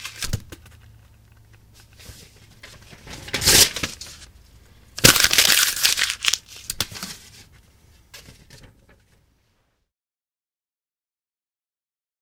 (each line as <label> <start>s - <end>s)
paper crumbling 2.7s - 4.3s
paper crumbling 5.0s - 7.4s